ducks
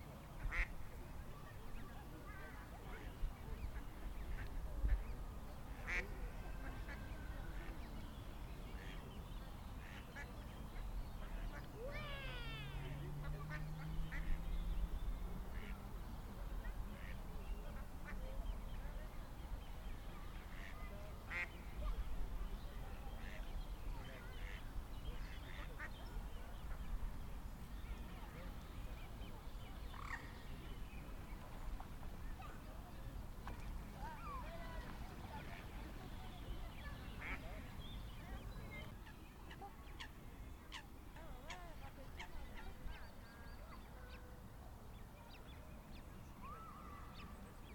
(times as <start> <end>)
0.4 0.7, 5.8 7.9, 9.8 10.3, 15.6 15.8, 16.6 18.3, 20.5 21.6, 24.0 24.6, 25.2 26.0, 36.8 37.5